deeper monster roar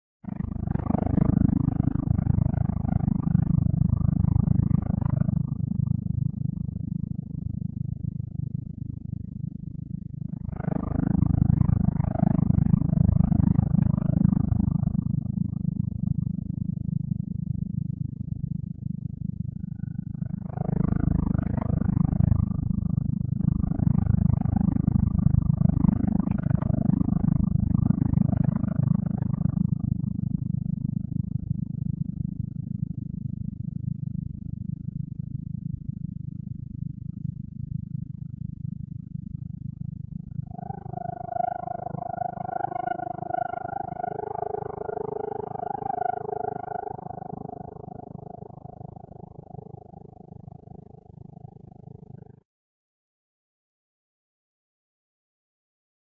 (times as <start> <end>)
40.5 49.2